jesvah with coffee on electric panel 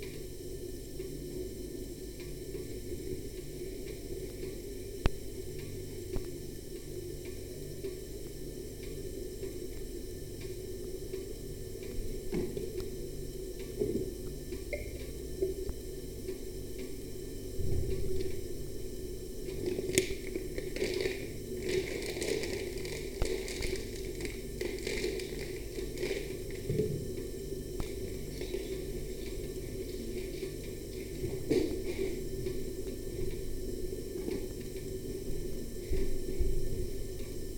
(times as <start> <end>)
18.9 32.7